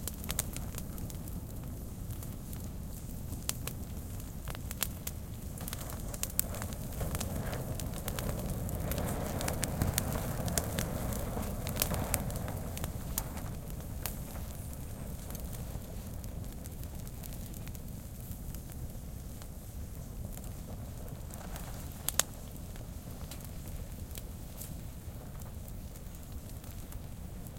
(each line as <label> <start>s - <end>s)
brushwood in the fire 0.0s - 27.5s